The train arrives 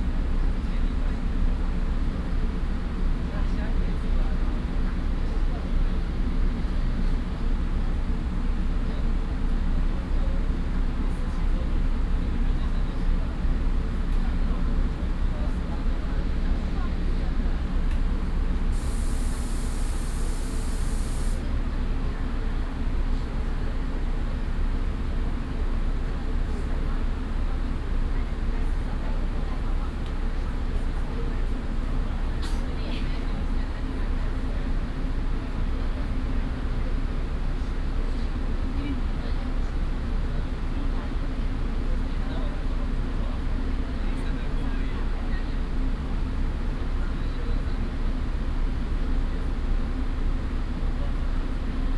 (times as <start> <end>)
16.5 32.8